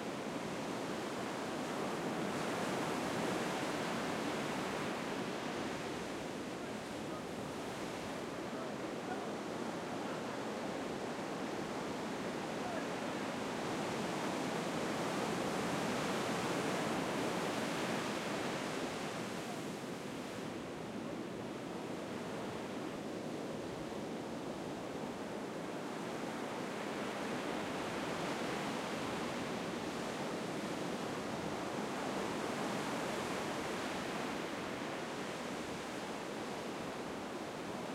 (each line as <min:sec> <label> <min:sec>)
0:00.0 waves coming in under the Manhattan Beach Pier 0:37.9